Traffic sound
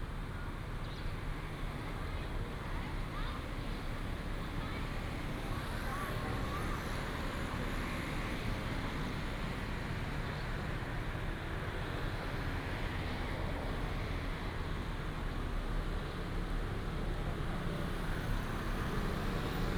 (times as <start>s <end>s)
16.2s 19.7s